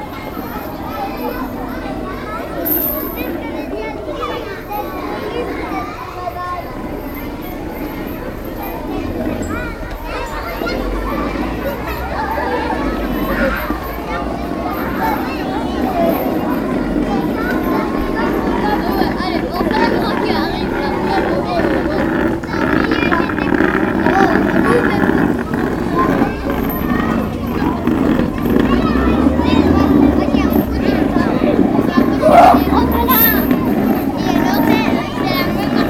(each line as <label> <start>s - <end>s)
Children playing 0.0s - 35.8s